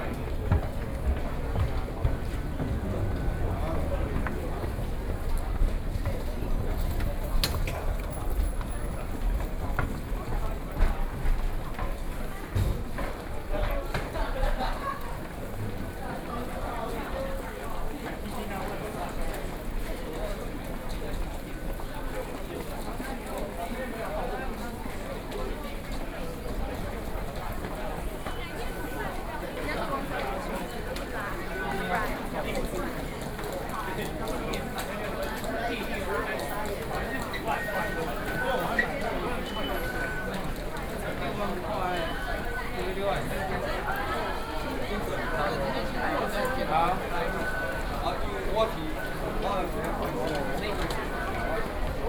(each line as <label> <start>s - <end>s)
moving escalator 0.0s - 52.0s